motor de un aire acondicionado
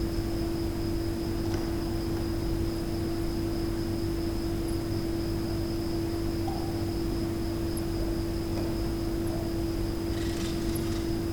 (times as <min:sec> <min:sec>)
0:10.1 0:11.3